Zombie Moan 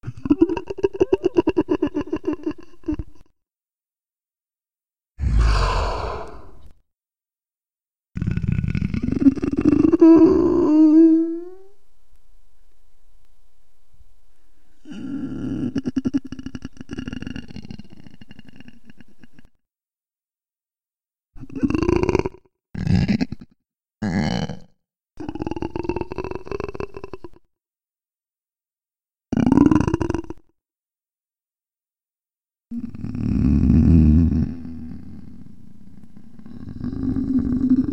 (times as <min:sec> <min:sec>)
0:05.2 0:06.7